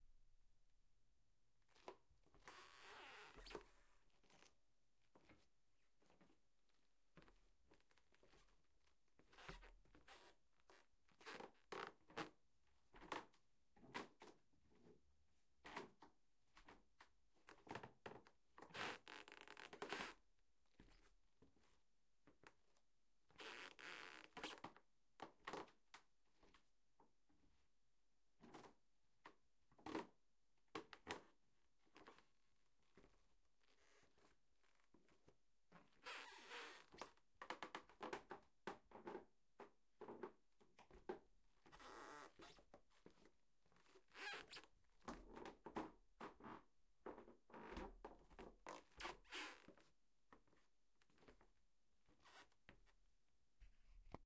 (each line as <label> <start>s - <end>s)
Creaking bedroom floor 43.8s - 49.9s